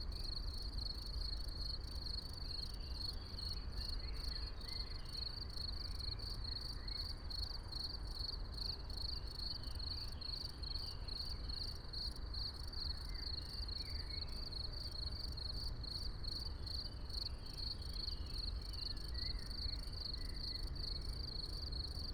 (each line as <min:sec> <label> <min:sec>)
0:00.0 crickets 0:22.1